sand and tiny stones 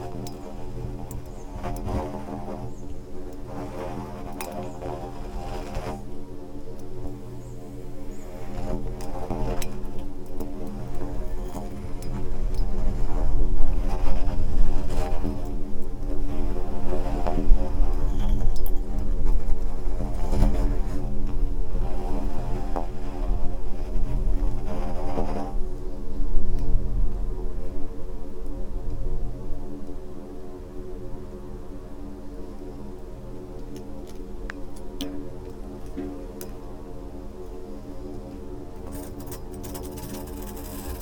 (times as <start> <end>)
32.0 41.0